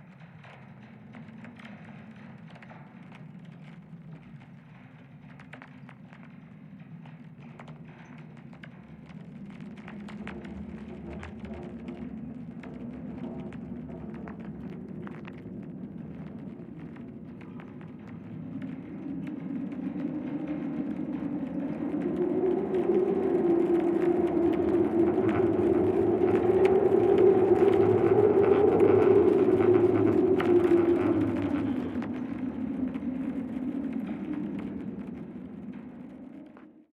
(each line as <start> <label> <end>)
0.0 storm 36.9